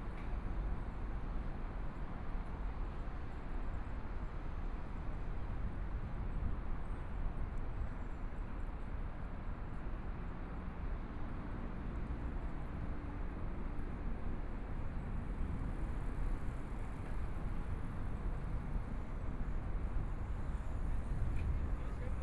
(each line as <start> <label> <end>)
11.0 Pedestrian 22.2